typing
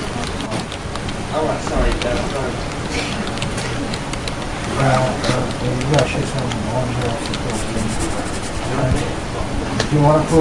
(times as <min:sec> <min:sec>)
0:01.8 0:08.8